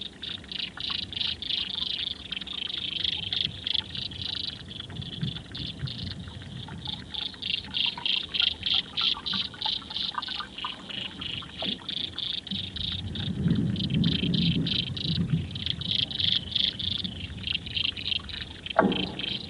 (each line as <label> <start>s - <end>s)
Corixidae (water boatmen) 0.0s - 19.4s